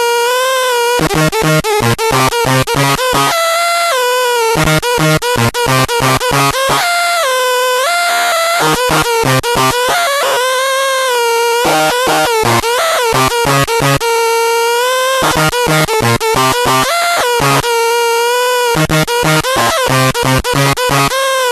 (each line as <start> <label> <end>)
0.0 distorted, howling glitchy feedback 7.1
7.7 distorted, howling glitchy feedback 14.1
15.0 distorted, howling glitchy feedback 21.5